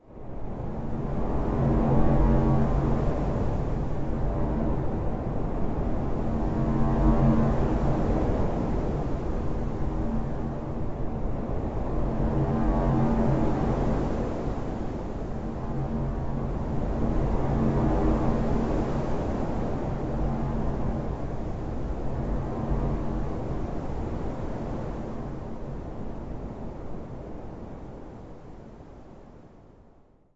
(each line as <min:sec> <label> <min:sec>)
0:00.0 artificial wind 0:29.8